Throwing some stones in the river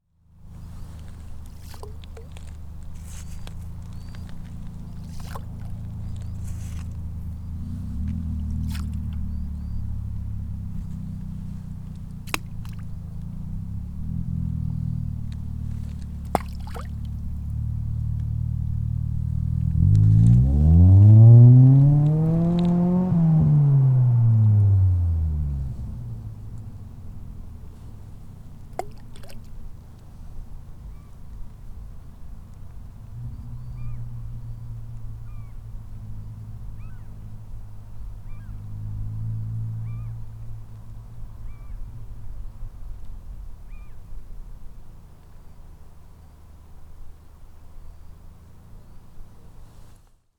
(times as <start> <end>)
0.5 7.2, 7.9 9.3, 12.0 13.0, 15.7 17.3, 28.6 29.7